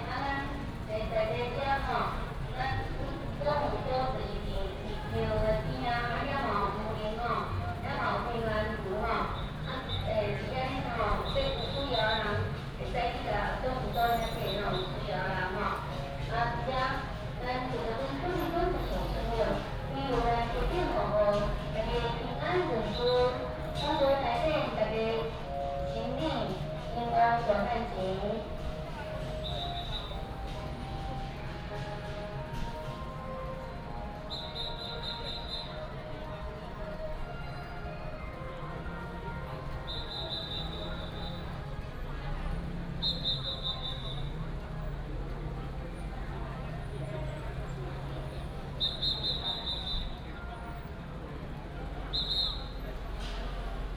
Many people gathered at the intersection 0.0 - 53.9

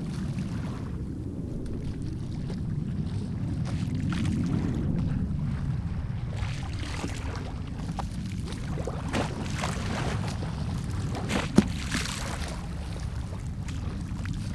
Waves and tides 0.0 - 14.5

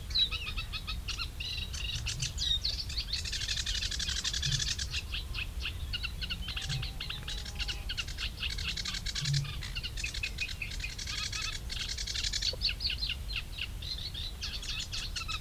coot 3.4 - 12.8

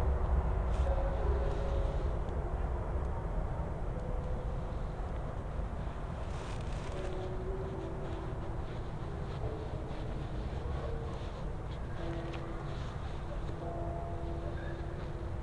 trains 0.0 - 15.4
temple bells 0.1 - 15.4

